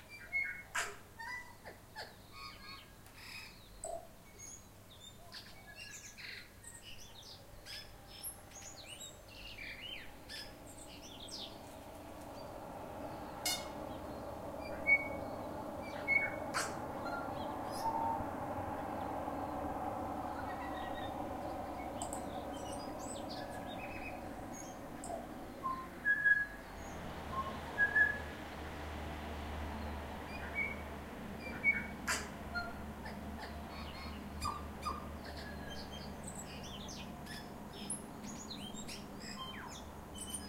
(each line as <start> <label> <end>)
5.8 cars can be heard in the background 40.4